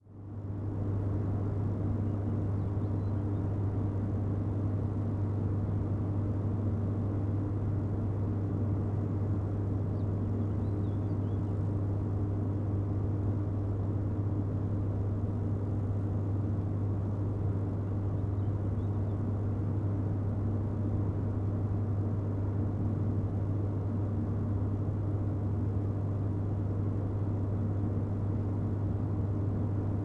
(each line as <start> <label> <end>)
0.0 hum and buzz of transformer station 30.0